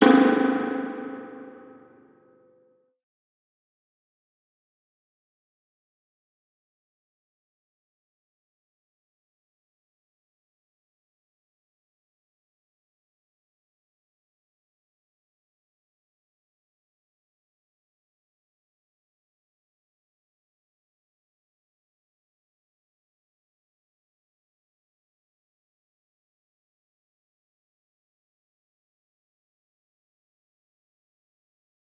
percussive sound processed with a spring reverb 0.0 - 2.7

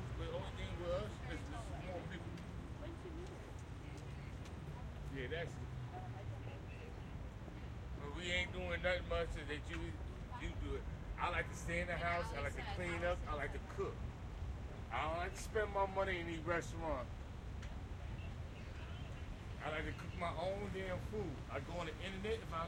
loud person on the street 0.0 - 22.6
street noise 0.0 - 22.6

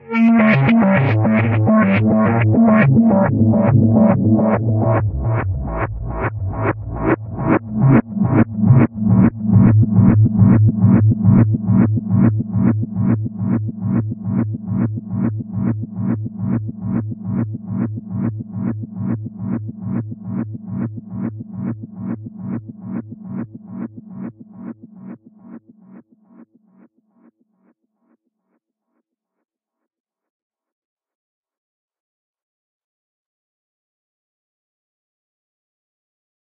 Reversed and delayed falling synth melody 0.0 - 23.9

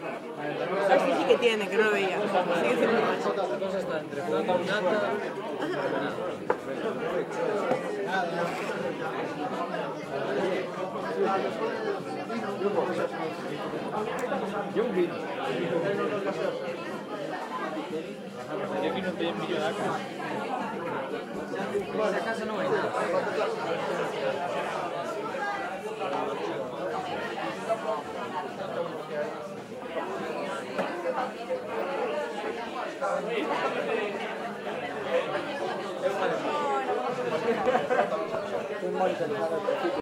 people 0.0 - 40.0

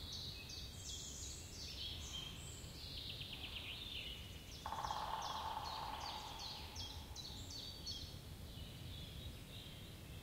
woodpecker 4.6 - 7.3
cuckoo 4.7 - 7.1

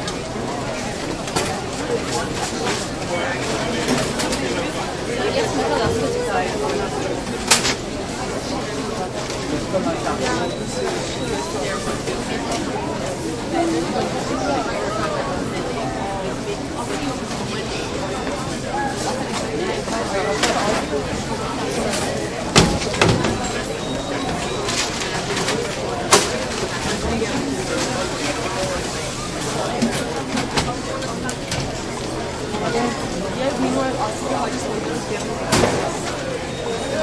busy crowd 0.0 - 37.0
merchandise being banged around 21.8 - 32.2
merchandise being banged around 35.4 - 36.3

